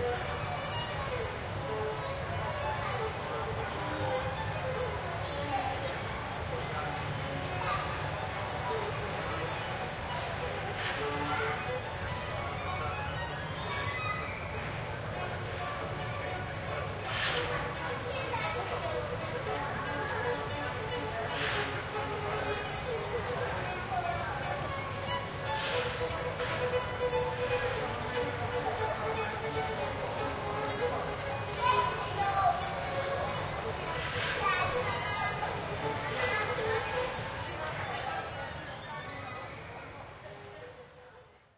tramways 0.0 - 41.0
street musician (violinist) 0.0 - 41.4
street hubbub 0.0 - 41.5
walking people 13.8 - 40.9

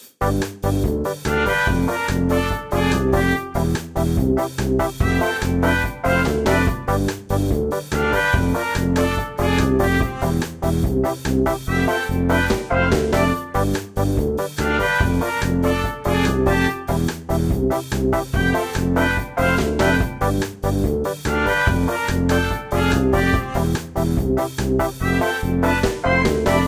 trombone 0.0 - 13.8
tuba 0.0 - 26.6
trumpet 1.2 - 4.0
trumpet 4.8 - 7.2
trumpet 7.8 - 10.8
trumpet 11.5 - 13.8
trombone 14.4 - 26.6
trumpet 14.6 - 17.2
trumpet 18.2 - 20.5
trumpet 21.2 - 24.1
trumpet 24.8 - 26.6

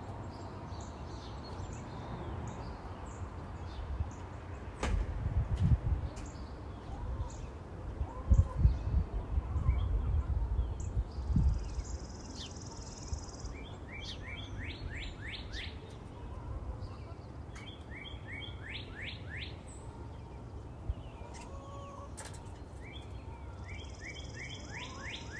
light breeze 0.0 - 25.3
light traffic (far away) 0.0 - 25.3
occasional chickens 5.6 - 25.3

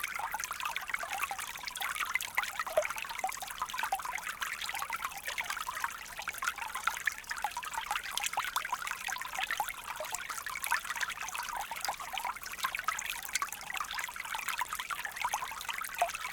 small stream detailed subtle 0.0 - 16.3

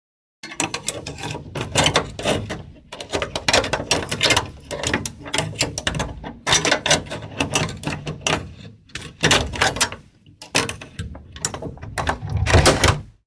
Pick a lock 0.4 - 13.1
handle 0.4 - 13.1
door 9.0 - 13.2

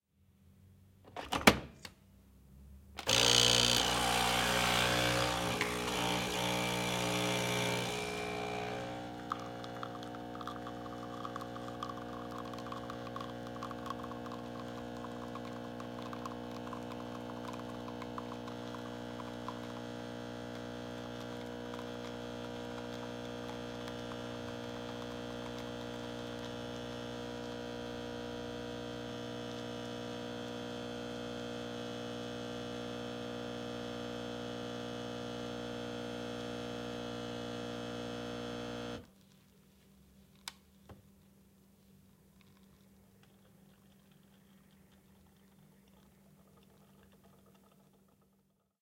Maquina de café Nespresso 3.0 - 39.1

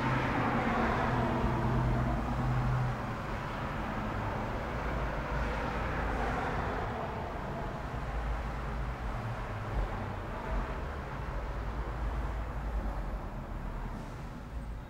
traffic 0.0 - 14.8

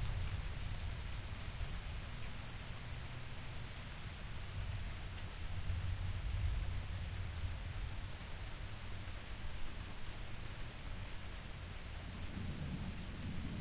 thunder and lightning that crackles, booms and rumbles 0.0 - 1.9
Rain 0.0 - 13.6
thunder and lightning that crackles, booms and rumbles 4.5 - 8.0
thunder and lightning that crackles, booms and rumbles 12.0 - 13.6

